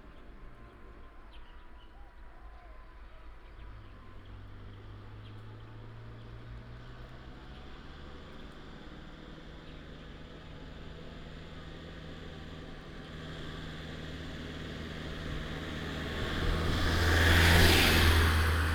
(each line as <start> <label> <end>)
0.0 Traffic sound 18.7